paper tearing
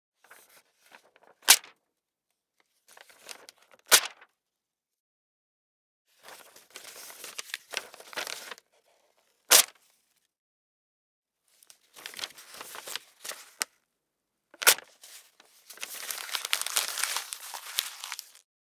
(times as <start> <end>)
15.7 18.4